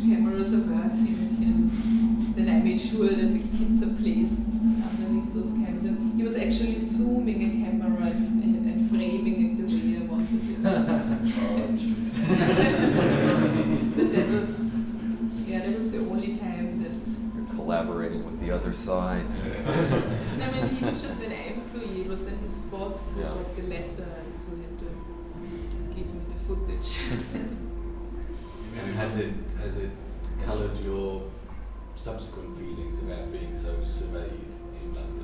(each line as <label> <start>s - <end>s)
speaking 2.4s - 25.0s